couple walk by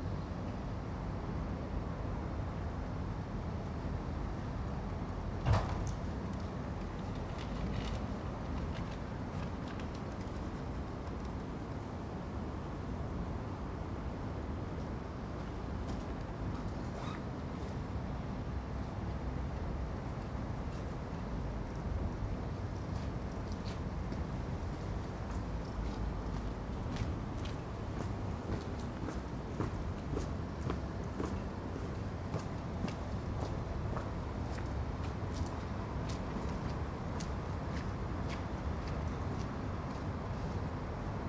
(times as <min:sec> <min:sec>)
0:14.3 0:41.2